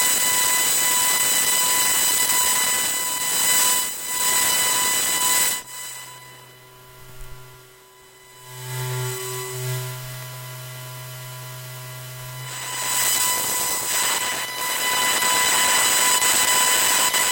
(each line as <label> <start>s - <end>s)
laptop working 6.9s - 8.6s